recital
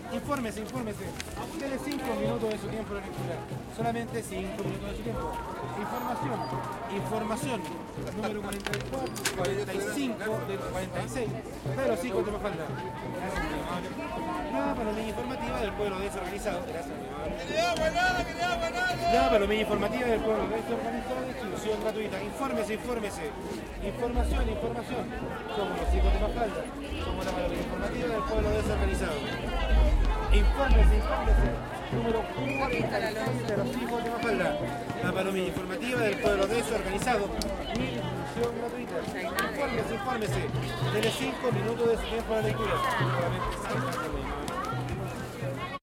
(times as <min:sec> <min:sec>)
0:25.6 0:32.9